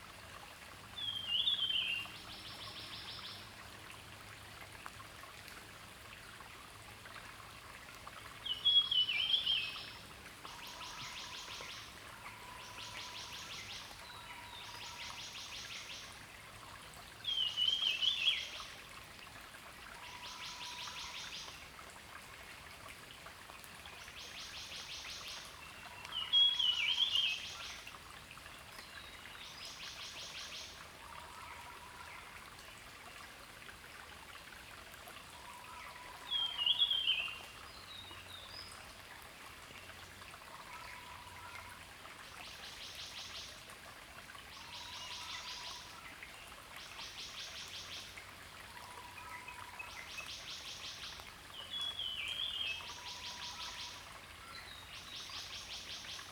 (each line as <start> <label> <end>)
0.0 Stream 56.3